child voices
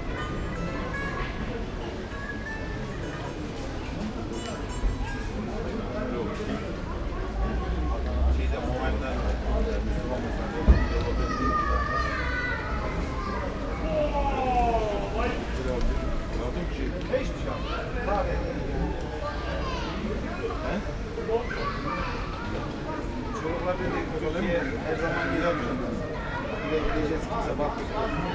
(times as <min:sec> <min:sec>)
0:19.2 0:20.0